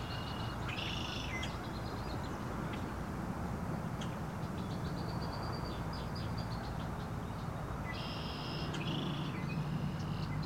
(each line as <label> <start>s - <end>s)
songbirds call to each other 0.0s - 3.0s
songbirds call to each other 3.8s - 10.4s